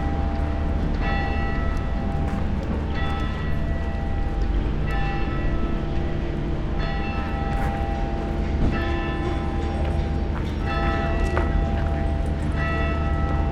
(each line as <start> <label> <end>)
0.0 funeral bells 13.5